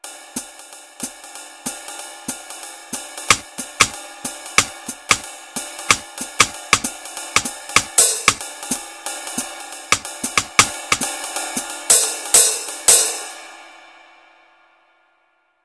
jazz beat 3.3 - 5.3
jazz beat 5.9 - 8.8
jazz beat 9.4 - 11.2

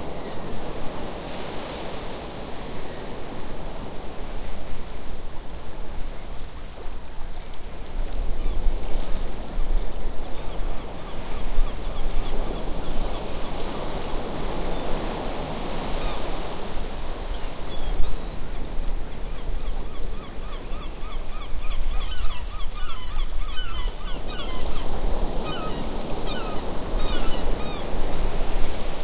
waves 0.0 - 29.0
Seagull on beach 10.6 - 29.0

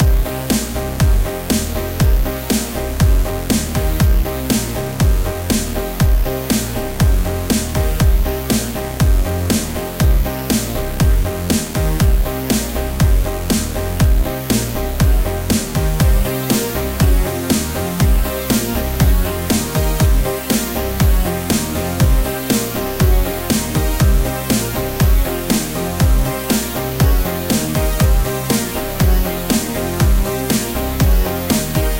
Bass is the Eighties Poly Synth with a phaser 0.0 - 31.9
piano 0.0 - 31.9

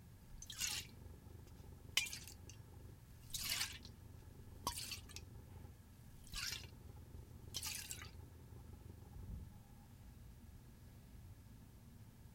liquid moving around an aerosol can 0.4 - 2.6
liquid moving around an aerosol can 3.2 - 8.2

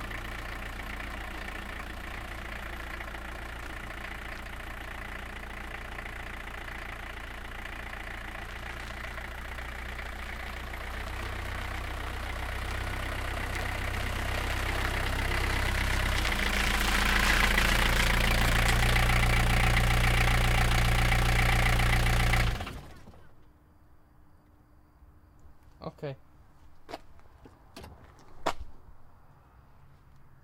old diesel Car starts, slow approach an stop 0.0 - 23.8

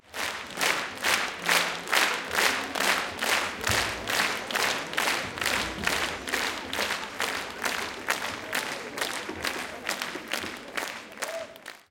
applause 0.0 - 11.9

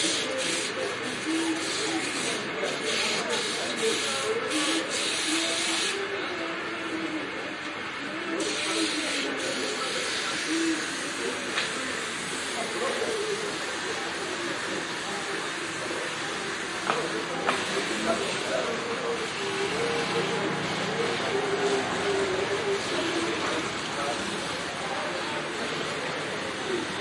spraying 0.0 - 6.0

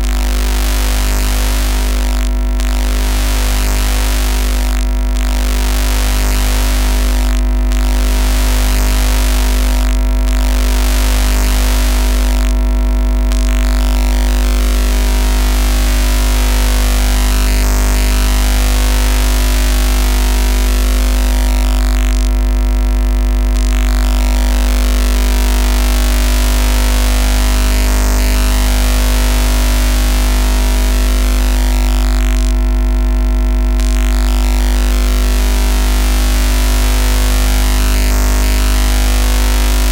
50 Hz hum with interference from an LED christmas light set 0.0 - 12.6
50 Hz hum with interference from an LED christmas light set 24.5 - 31.8

